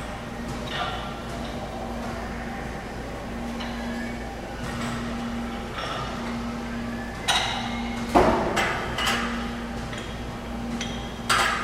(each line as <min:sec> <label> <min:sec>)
0:00.0 Gym sounds 0:11.6